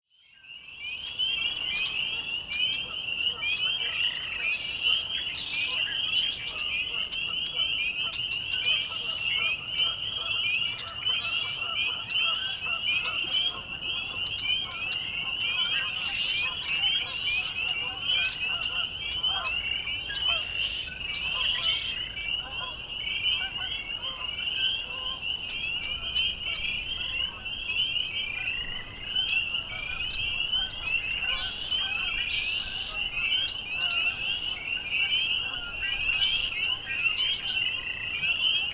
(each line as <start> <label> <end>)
0.2 Blackbirds 38.7
0.2 frogs 38.7
0.8 geese 38.7